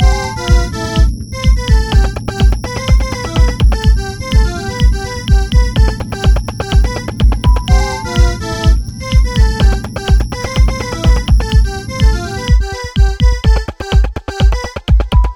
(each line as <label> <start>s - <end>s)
bass 0.0s - 13.6s
synth 0.0s - 14.0s
drum 0.0s - 15.3s